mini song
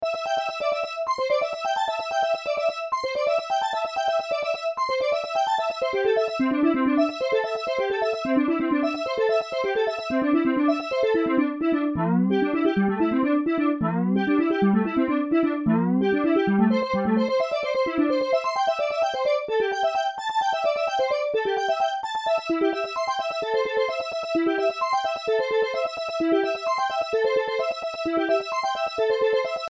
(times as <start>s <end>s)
6.2s 18.7s